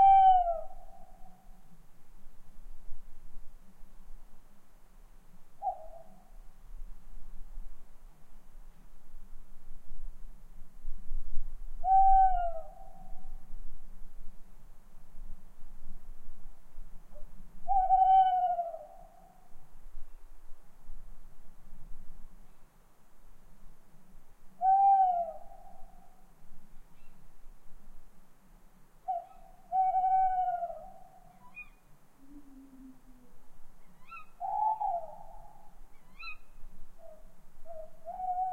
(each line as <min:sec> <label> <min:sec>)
0:00.0 wind noise in the trees 0:38.5